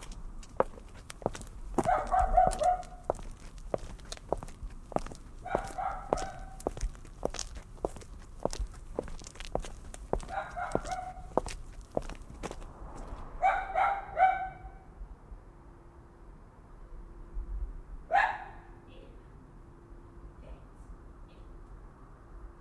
man walking at night 0.0 - 13.4

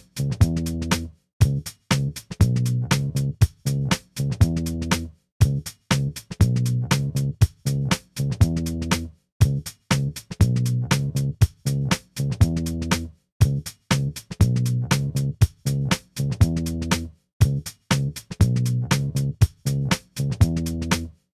bass 0.0 - 21.3
drums 0.0 - 21.3

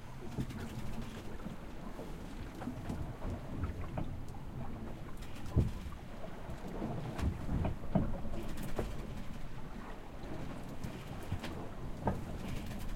boat 0.0 - 12.9
ocean 0.0 - 12.9

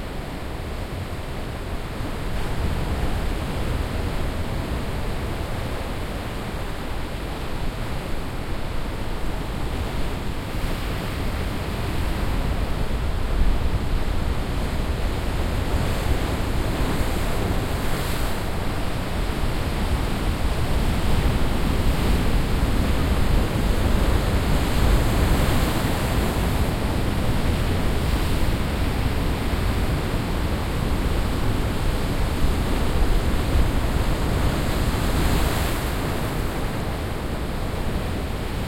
wind on sand beach 0.0 - 38.6

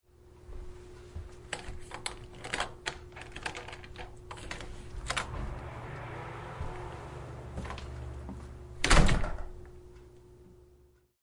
open door 1.5 - 9.9
door close 4.3 - 9.7

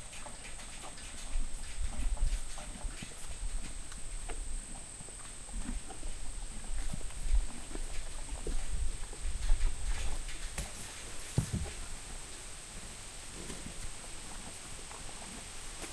HORSE EATING GRASS 0.0 - 15.9
wind noise 5.4 - 10.6

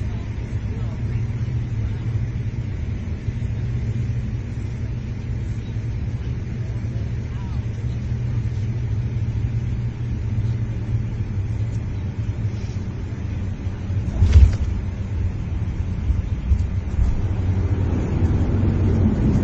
Pilot PA Announcement 0.0 - 12.4
Turboprop Aircraft Descent Landing 0.0 - 19.4

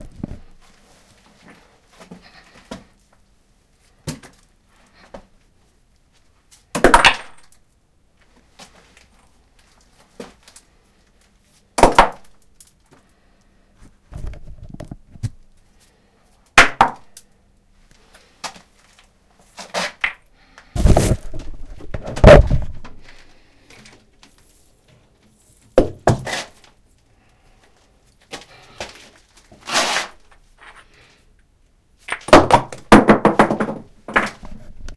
rock or stone being thrown 6.8 - 7.5

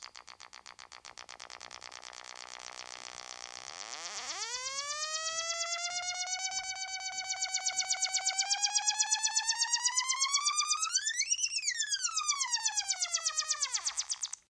ribbon synth 4.3 - 14.4

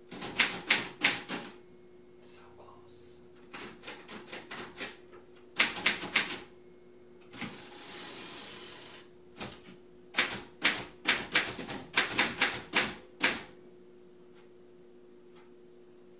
secretary typing on 1940s mechanical typewriter 0.1 - 1.5
secretary typing on 1940s mechanical typewriter 5.6 - 6.4
secretary typing on 1940s mechanical typewriter 10.2 - 13.5

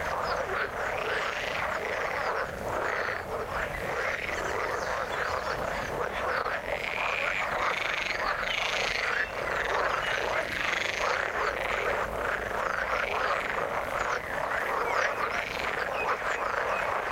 birds 0.0 - 17.1
frogs singing their songs 0.0 - 17.1
waterbirds 0.0 - 17.1

